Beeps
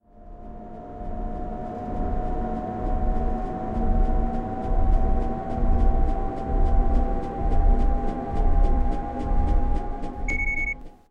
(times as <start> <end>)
10.2 10.8